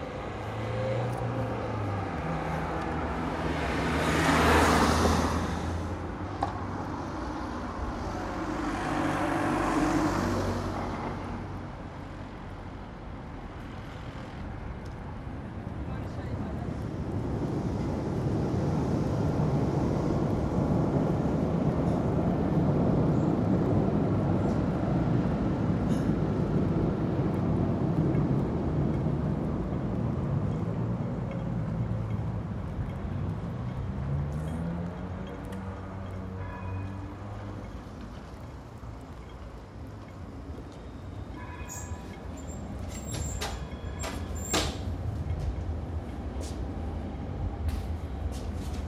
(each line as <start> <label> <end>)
0.0 traffic 48.8
0.0 wind and trees 48.8
10.7 regular pulse of the train in the distance 48.8
30.8 people walking 48.8